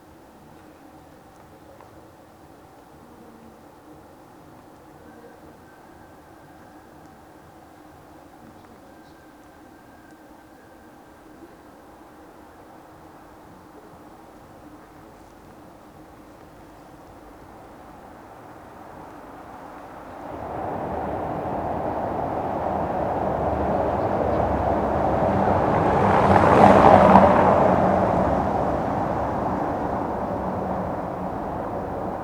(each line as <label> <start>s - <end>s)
cyclists 0.0s - 32.2s
night traffic 0.0s - 32.2s
passers by 11.8s - 32.2s